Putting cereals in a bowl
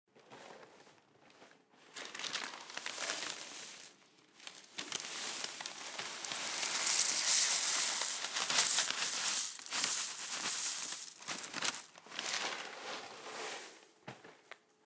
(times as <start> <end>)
2.0 12.8